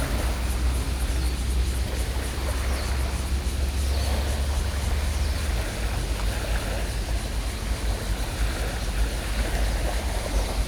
0.0s Tide 10.6s

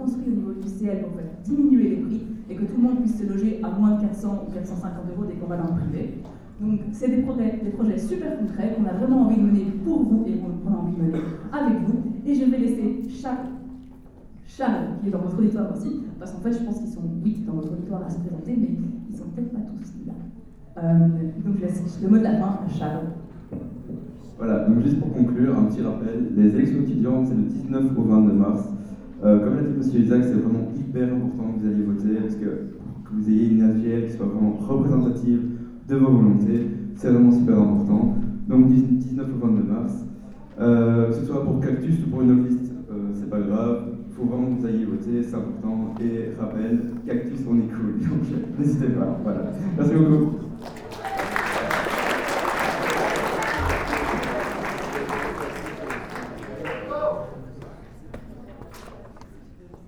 0.0s Students trade union presents their programm 59.8s

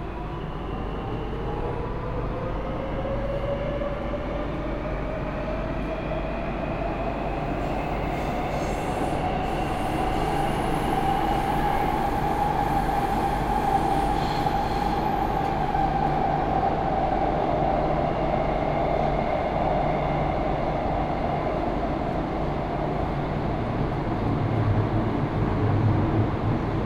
0.0s Metro ride from Służew to Wilanowska station 26.8s

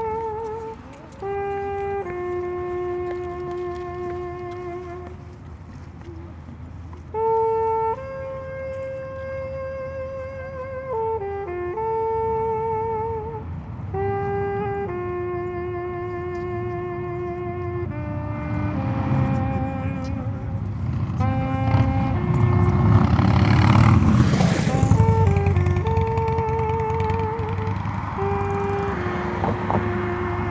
0.0s noisy street 30.5s
0.0s street musician playing 30.5s

